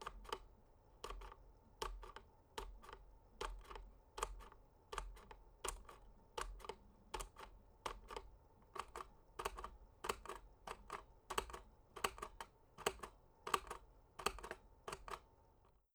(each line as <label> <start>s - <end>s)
Desktop pinball flipper movements 0.0s - 15.2s